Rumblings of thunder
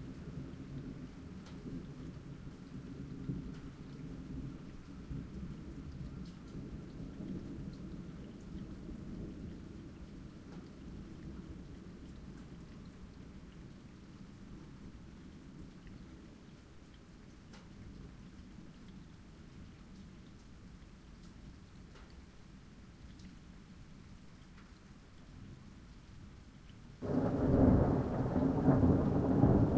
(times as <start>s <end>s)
27.0s 29.7s